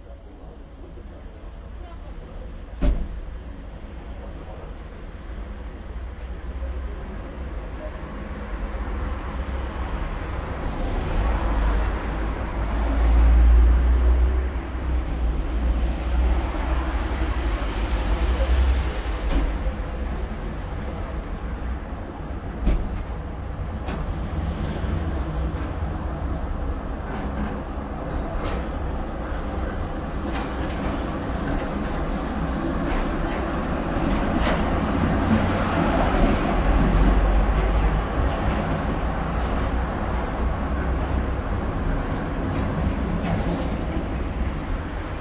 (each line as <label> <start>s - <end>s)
cars 0.0s - 45.2s
tramways 0.0s - 45.2s